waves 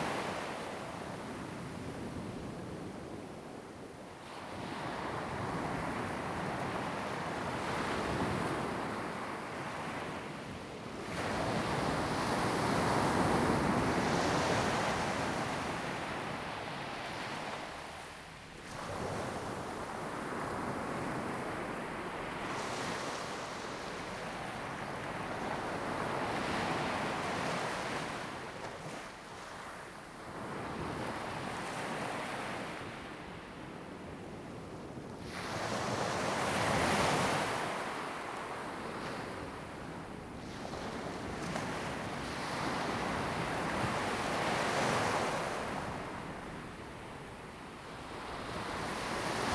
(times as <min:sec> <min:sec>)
0:35.3 0:49.5